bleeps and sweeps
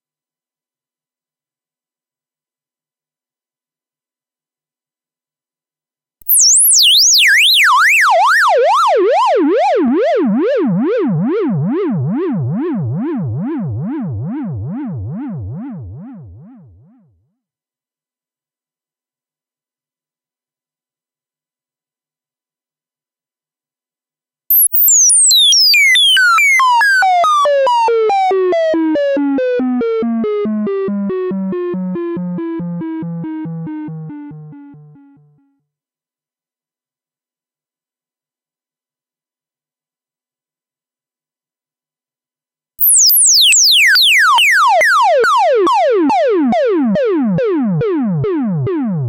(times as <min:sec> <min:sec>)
0:24.5 0:25.4